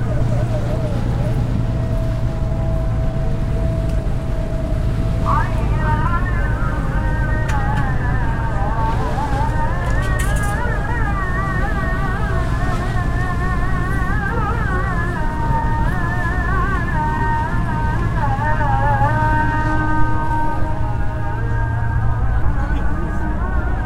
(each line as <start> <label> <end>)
0.0 Ezan (Islam prayer) 23.8
0.0 background boat sounds 23.8